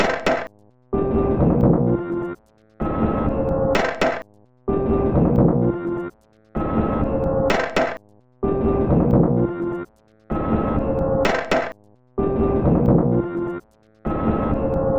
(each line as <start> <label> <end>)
0.0 Drum 0.5
3.8 Drum 4.2
6.6 Drum 8.0
10.3 Drum 11.8